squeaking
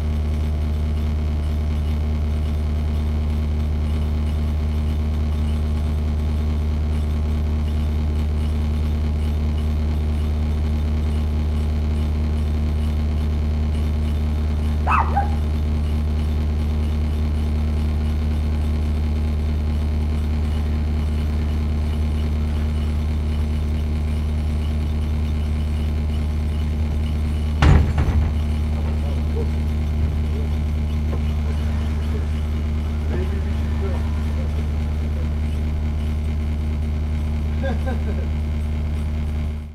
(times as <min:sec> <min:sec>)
0:20.4 0:37.6